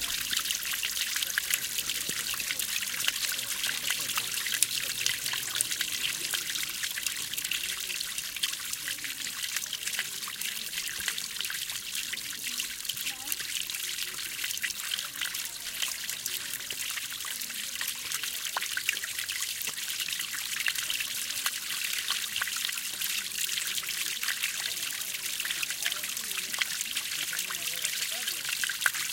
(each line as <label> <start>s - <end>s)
water splashing 0.0s - 29.1s